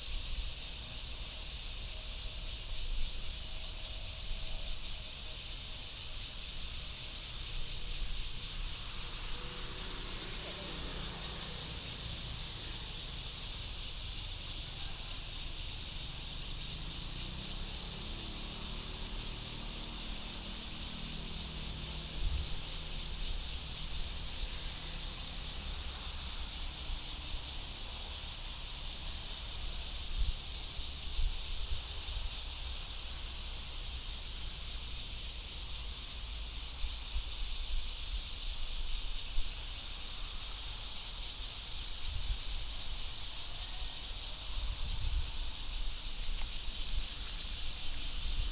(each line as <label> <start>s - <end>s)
Cicadas sound 0.0s - 48.5s
Traffic Sound 8.3s - 14.8s
Traffic Sound 15.9s - 28.2s